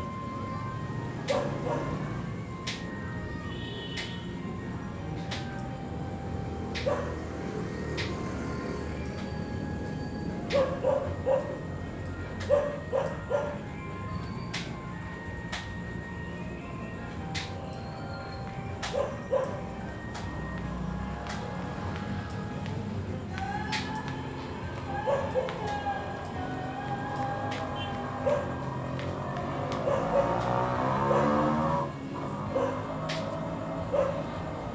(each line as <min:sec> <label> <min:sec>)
0:00.0 People pass by by walking 0:34.7
0:00.0 cars 0:34.7
0:00.0 tricycles 0:34.7
0:20.6 Home-karaoke 0:31.8